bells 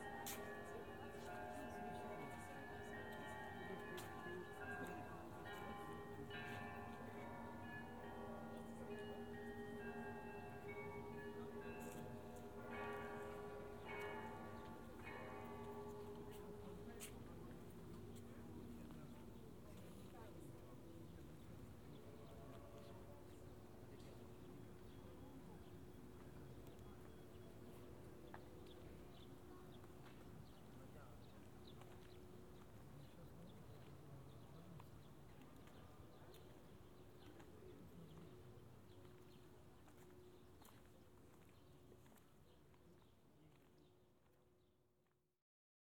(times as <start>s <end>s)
0.0s 19.8s